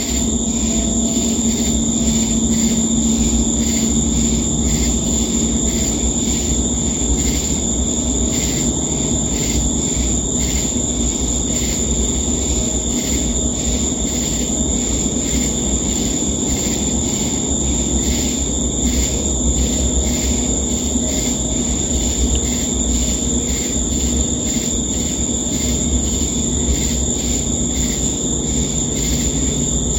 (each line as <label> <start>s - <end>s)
cicadas 0.0s - 29.9s
crickets 0.0s - 29.9s
shakers 0.0s - 29.9s